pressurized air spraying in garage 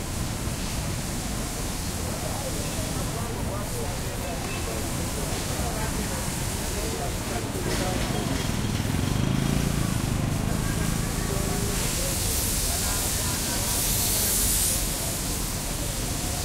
9.6s 16.4s

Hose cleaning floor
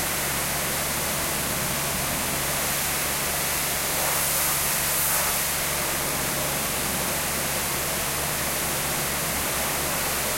2.6s 6.0s

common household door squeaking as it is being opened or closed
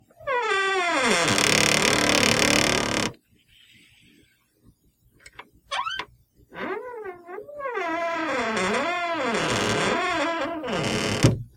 0.2s 3.2s, 5.7s 11.4s

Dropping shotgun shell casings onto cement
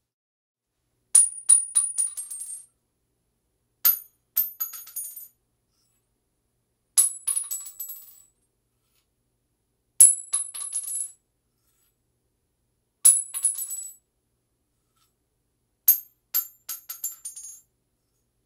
3.9s 5.3s, 7.0s 8.3s, 13.1s 14.0s, 15.9s 17.6s

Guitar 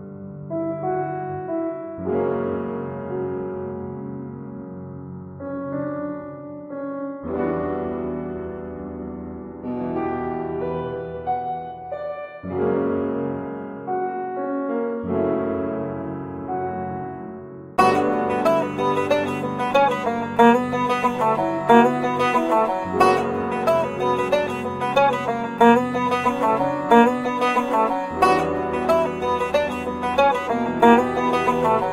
17.8s 31.9s

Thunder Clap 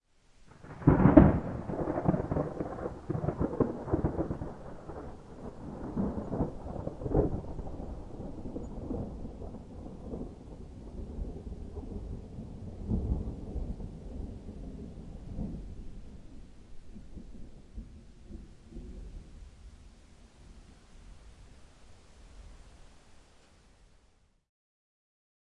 0.5s 19.3s

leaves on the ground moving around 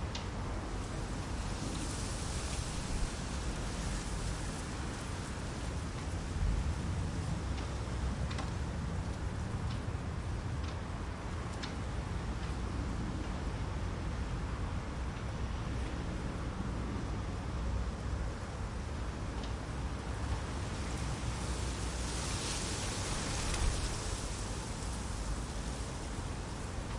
1.0s 6.7s, 20.3s 26.9s

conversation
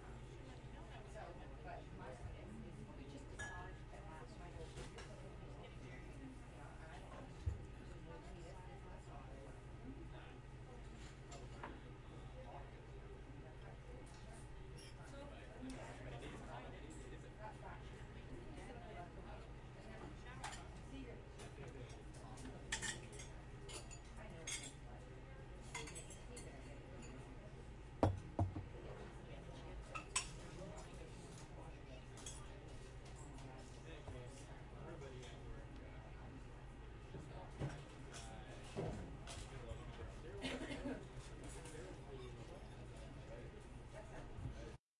0.7s 36.5s

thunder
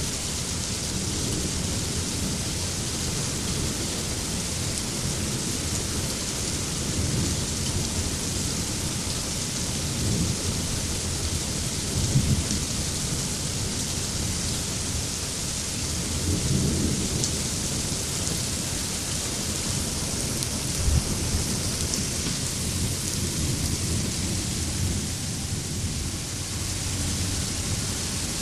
20.7s 21.6s

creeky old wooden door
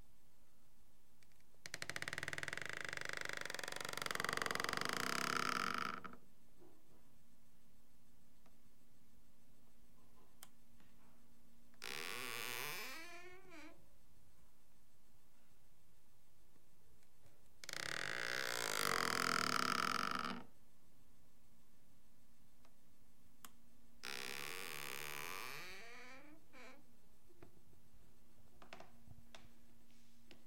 1.6s 6.2s, 11.8s 13.8s, 17.6s 20.4s, 24.0s 26.8s

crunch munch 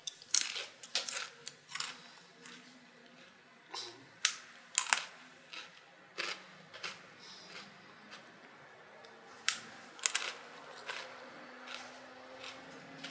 0.3s 2.6s, 9.5s 13.1s

